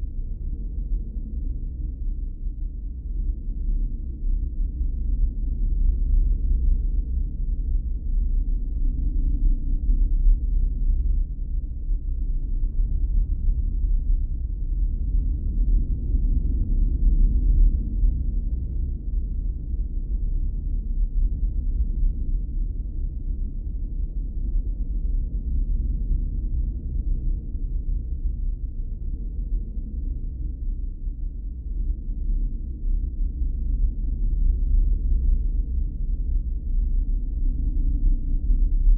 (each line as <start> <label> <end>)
9.8 Deep creepy rumble 38.9